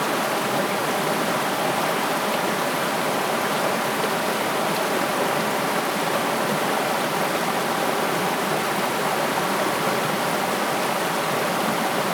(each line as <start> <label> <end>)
0.0 river 12.1